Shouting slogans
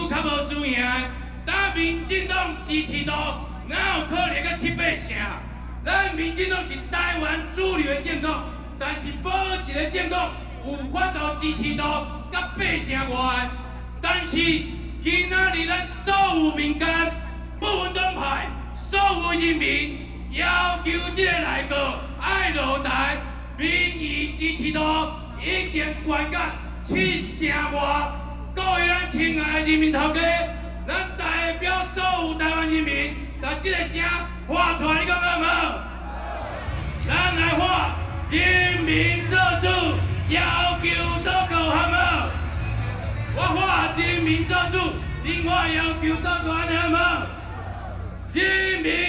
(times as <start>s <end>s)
35.4s 49.0s